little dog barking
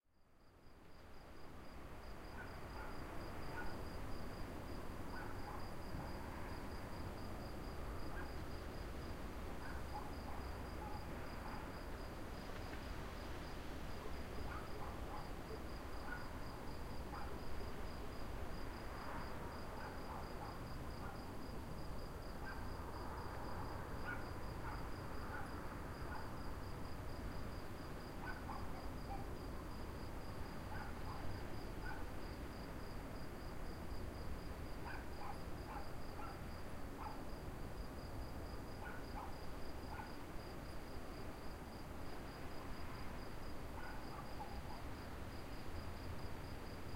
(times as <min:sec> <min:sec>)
0:02.4 0:03.8, 0:05.1 0:05.7, 0:09.6 0:11.7, 0:14.5 0:16.4, 0:17.1 0:17.4, 0:19.8 0:21.2, 0:24.0 0:26.4, 0:28.2 0:29.3, 0:30.7 0:32.1, 0:34.8 0:36.4, 0:37.0 0:37.2, 0:38.8 0:40.2, 0:43.8 0:44.9